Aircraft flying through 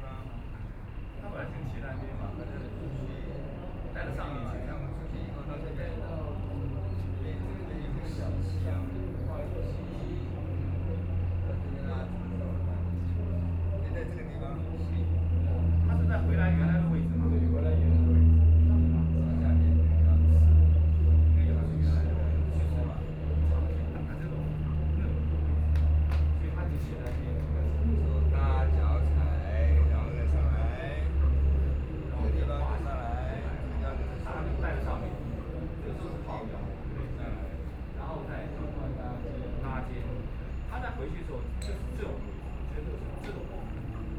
0:12.3 0:41.1

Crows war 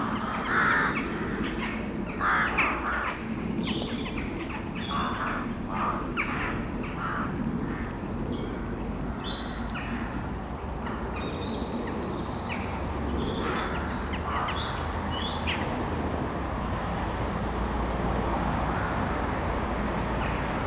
0:00.0 0:10.2, 0:10.8 0:15.8

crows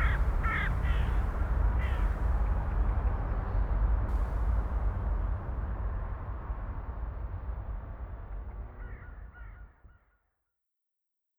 0:00.0 0:02.2, 0:08.8 0:10.1

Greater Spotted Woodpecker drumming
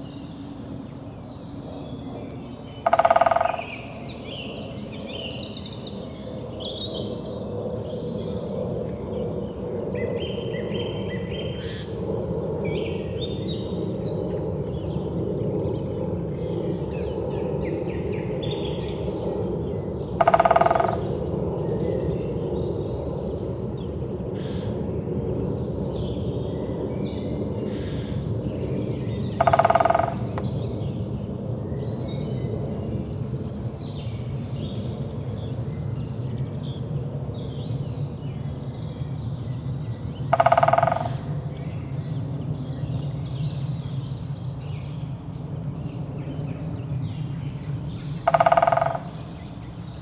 0:02.7 0:04.4, 0:17.6 0:22.4, 0:27.6 0:31.0, 0:40.1 0:43.2, 0:47.4 0:50.0

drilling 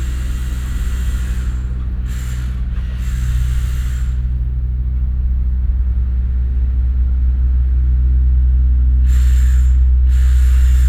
0:00.0 0:04.4, 0:09.1 0:10.8

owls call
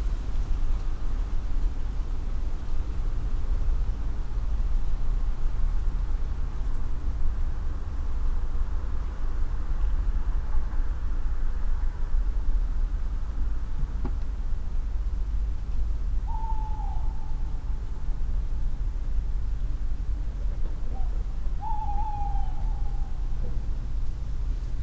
0:16.3 0:17.4, 0:20.9 0:23.2

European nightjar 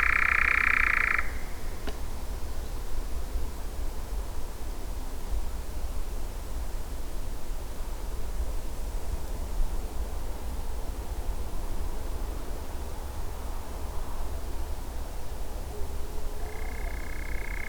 0:00.0 0:01.9, 0:16.4 0:17.6

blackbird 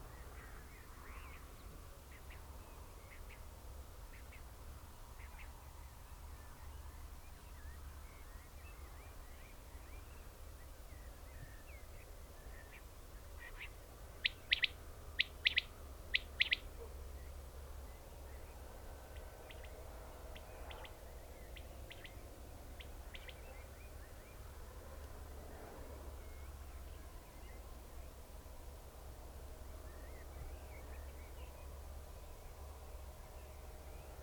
0:13.4 0:17.0

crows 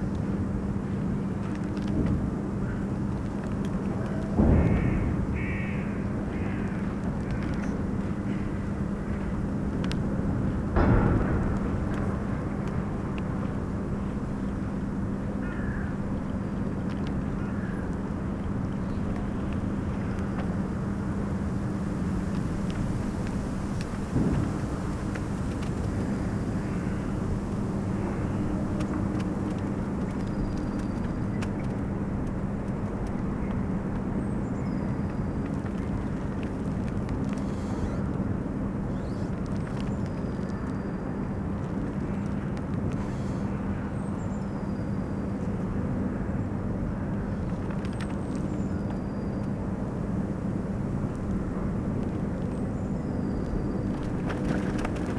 0:04.7 0:07.4, 0:15.4 0:16.0

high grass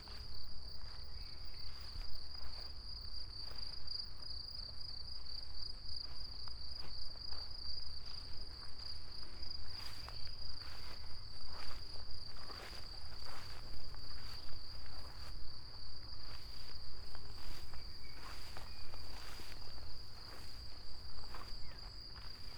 0:16.3 0:22.5

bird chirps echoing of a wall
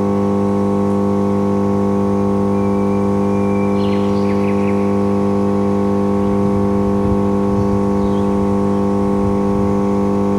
0:02.5 0:05.2, 0:08.0 0:08.4

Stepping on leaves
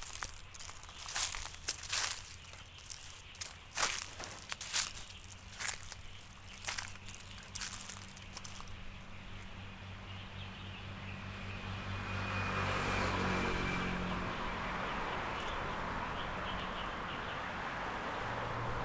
0:00.0 0:09.5

